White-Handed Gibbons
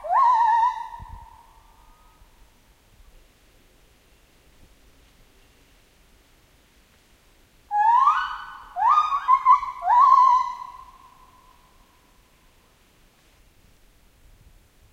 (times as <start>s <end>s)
7.7s 12.3s